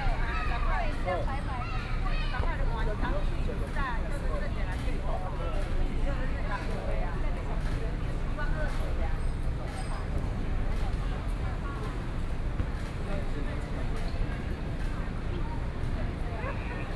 A lot of tourists 0.0 - 16.9

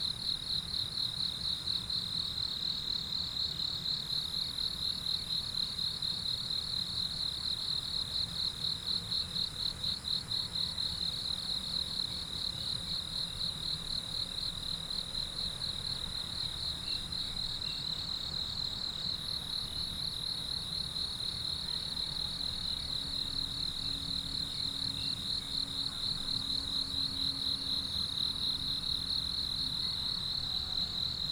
Insects sounds 12.0 - 31.3

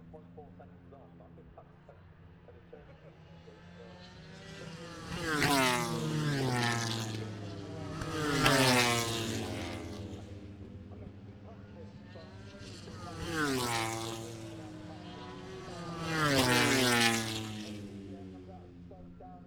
moto grand prix free practice one 0.0 - 19.4

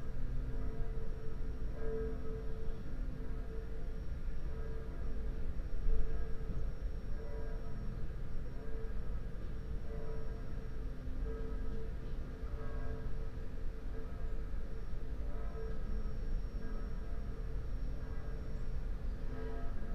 churchbells 0.0 - 19.9

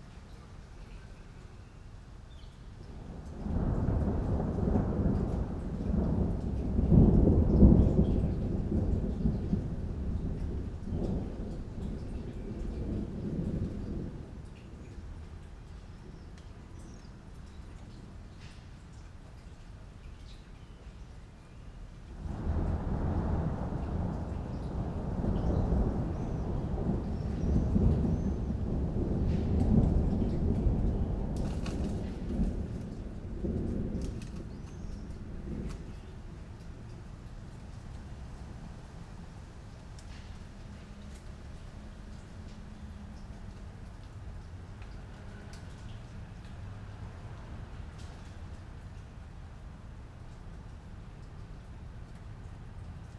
Rain in a milanese garden 0.0 - 53.1

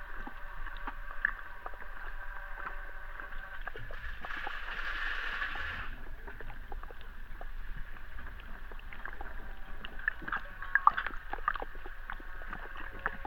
arriving boat through hydrophone 0.0 - 13.2

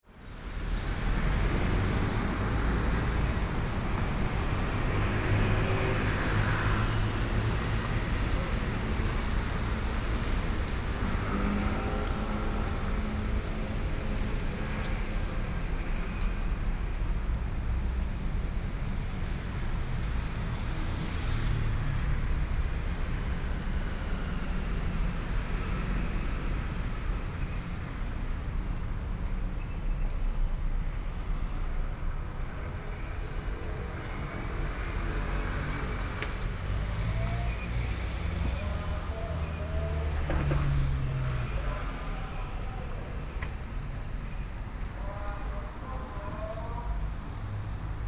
Traffic Sound 0.1 - 48.0
walking on the Road 0.2 - 48.0

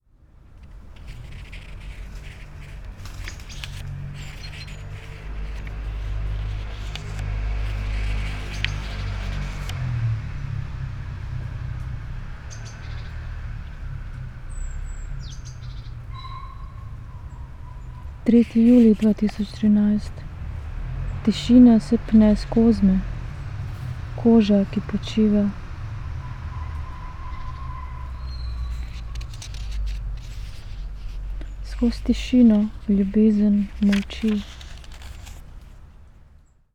reading poem 0.5 - 9.9
reading poem 16.8 - 25.9
reading poem 27.6 - 35.9

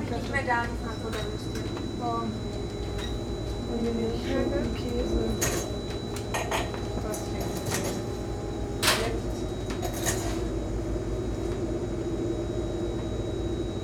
people ordering 0.0 - 9.4

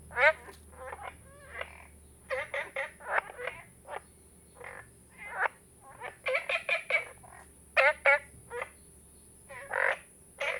Frogs chirping 0.1 - 7.2
Frogs chirping 9.5 - 10.5

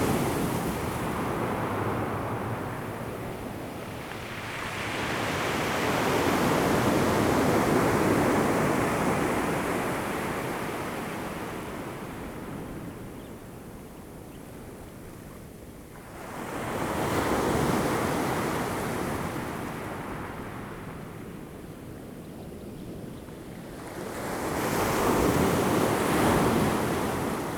waves 0.0 - 12.4

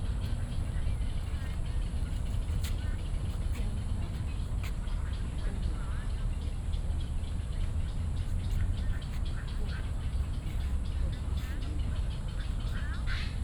Bird calls 7.5 - 13.4

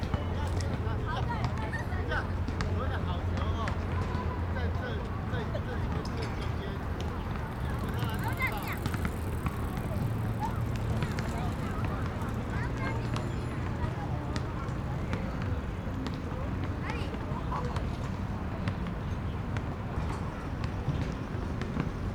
play Basketball 0.0 - 22.1

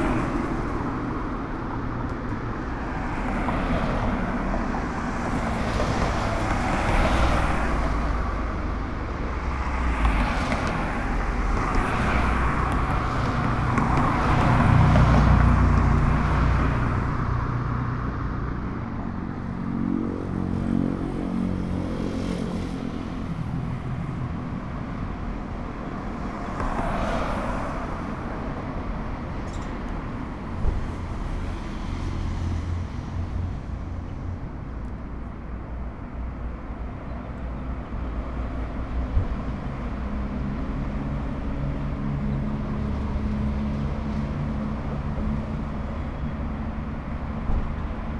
vehicles passing 0.0 - 48.1

